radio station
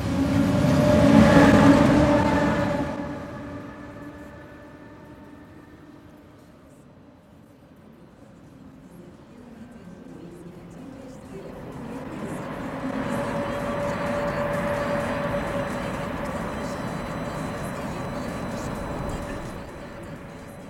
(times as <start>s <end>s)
10.0s 20.6s